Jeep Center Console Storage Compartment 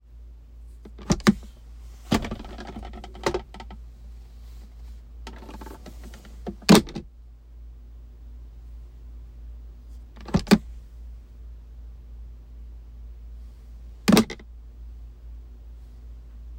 0.8 3.8, 4.6 7.1, 10.0 10.8, 14.0 14.5

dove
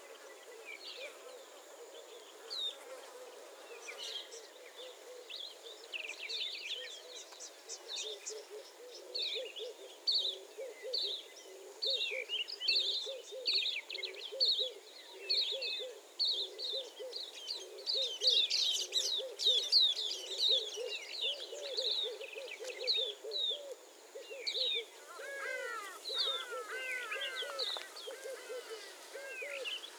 6.8 29.9

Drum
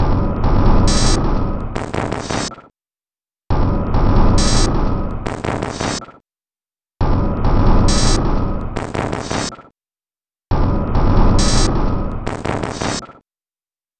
0.5 2.6, 4.0 6.1, 7.1 9.6, 10.5 13.2

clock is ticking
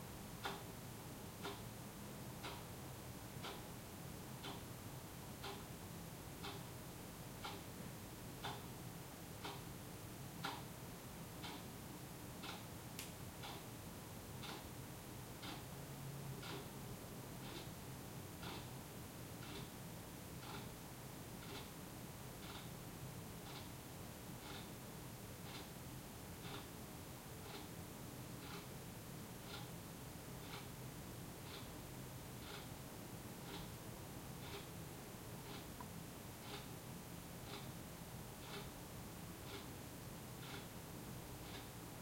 0.4 0.7, 1.3 1.8, 2.4 3.7, 4.3 4.7, 5.4 6.7, 7.4 7.8, 8.4 8.8, 9.4 9.7, 10.4 10.8, 11.4 11.7, 12.4 13.8, 14.4 17.8, 18.4 19.8, 20.4 22.8, 23.4 24.8, 25.4 25.8, 26.4 26.8, 27.4 28.8, 29.4 32.8, 33.4 42.0

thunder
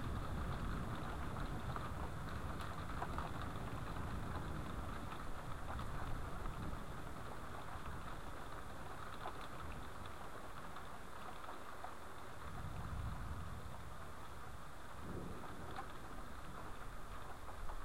0.0 7.3, 12.4 14.0, 14.9 17.8

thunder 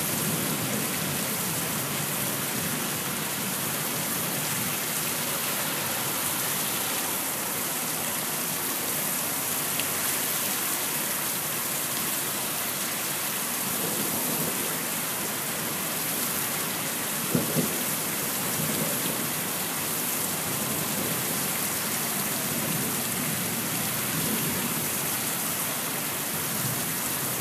17.3 17.8

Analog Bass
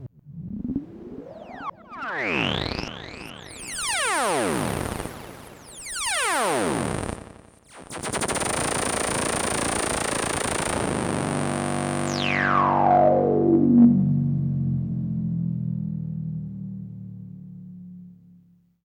10.3 18.8

